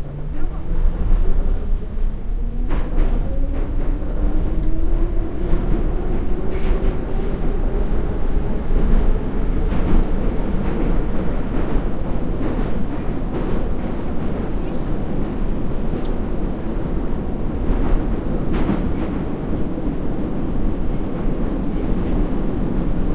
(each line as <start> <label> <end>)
0.0 subway ride 23.1
0.0 people talking 1.8
14.0 people talking 15.4